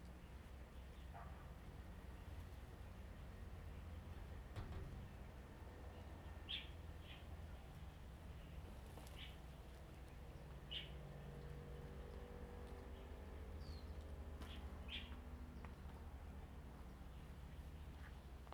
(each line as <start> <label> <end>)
5.9 Birds singing 11.0
12.8 Birds singing 16.1